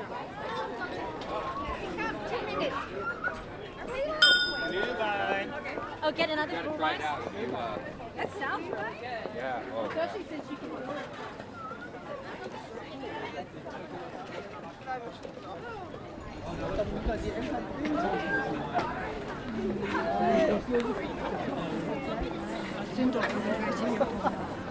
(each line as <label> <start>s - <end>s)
hand-driven children's carousel 4.2s - 5.4s